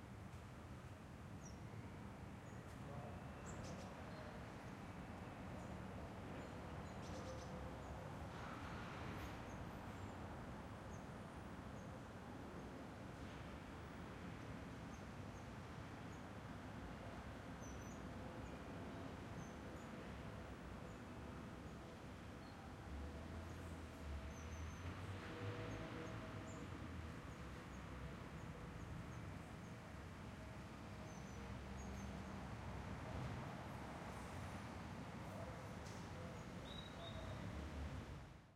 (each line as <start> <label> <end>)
0.0 wind 38.5
18.1 general traffic noise 38.5